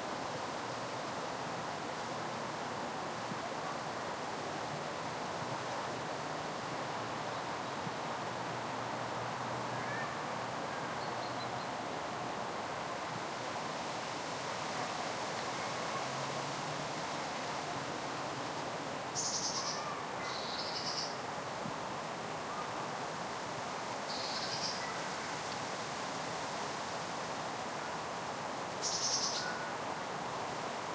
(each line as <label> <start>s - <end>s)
wind 0.0s - 30.9s